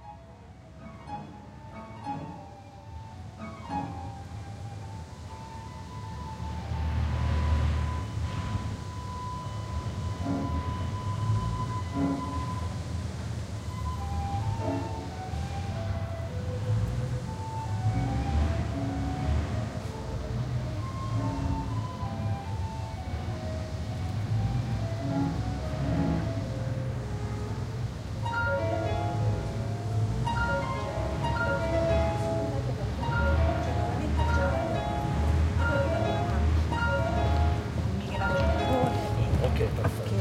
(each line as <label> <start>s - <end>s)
flute 0.0s - 39.8s
piano 0.0s - 40.2s
cello 0.8s - 12.9s
cello 24.0s - 40.2s